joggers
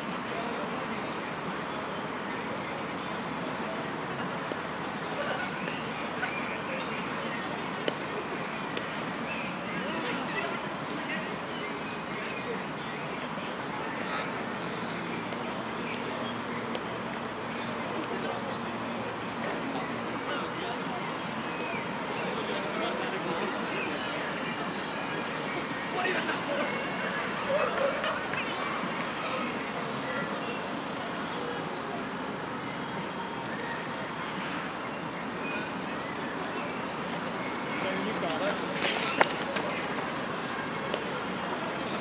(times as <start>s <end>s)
37.2s 41.6s